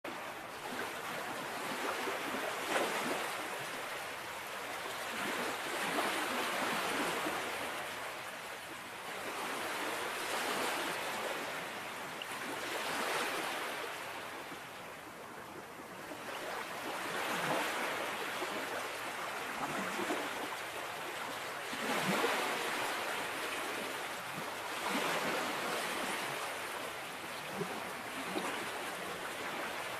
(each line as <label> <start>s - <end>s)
ocean waves crashing on the shore 0.1s - 29.9s